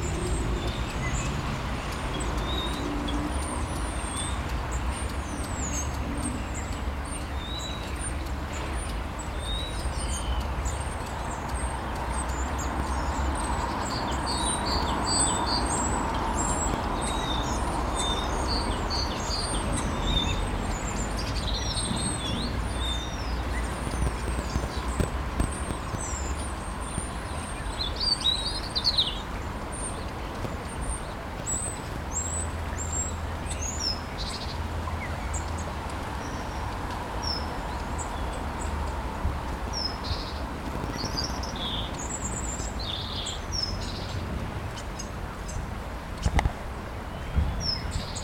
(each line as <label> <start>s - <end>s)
Birds 0.0s - 48.2s
cars 0.0s - 48.2s